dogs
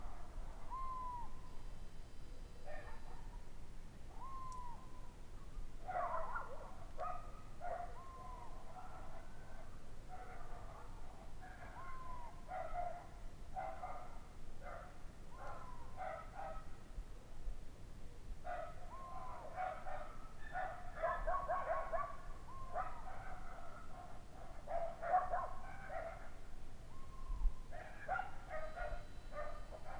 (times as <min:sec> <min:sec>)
0:02.7 0:03.4, 0:05.8 0:16.8, 0:18.5 0:26.4, 0:27.7 0:29.9